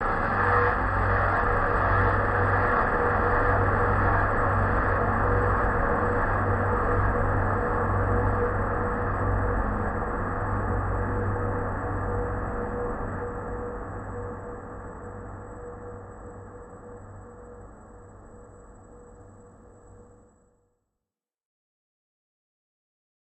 Train 0:00.0 - 0:18.6

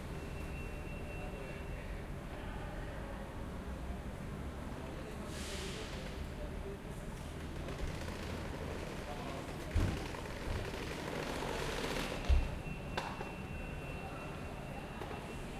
bus 0:00.0 - 0:15.5
crowd 0:00.0 - 0:15.5
Train 0:00.1 - 0:07.8

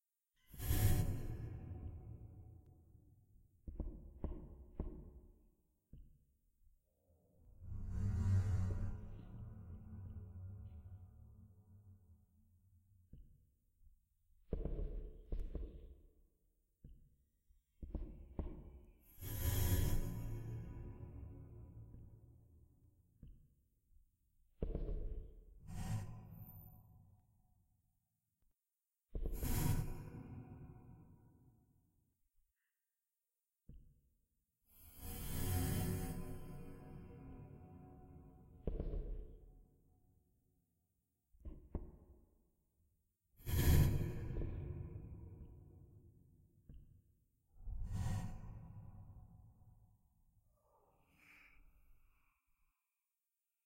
Creaking floor noises 0:14.5 - 0:16.2

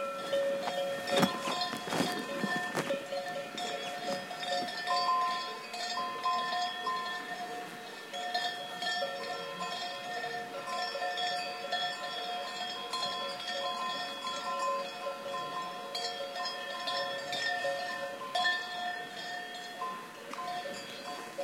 bells 0:00.0 - 0:21.4
cow grazing 0:00.0 - 0:21.4

